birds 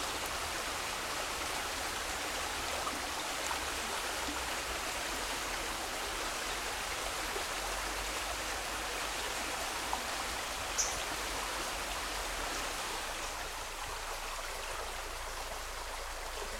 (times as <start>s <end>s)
10.7s 11.1s